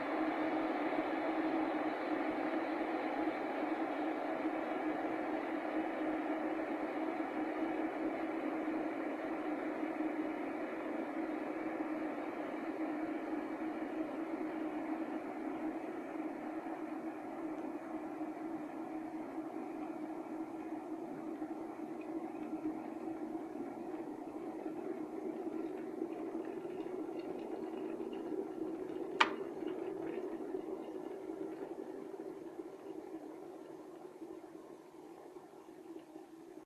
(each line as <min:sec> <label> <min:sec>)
0:00.0 Teapot boiling 0:36.6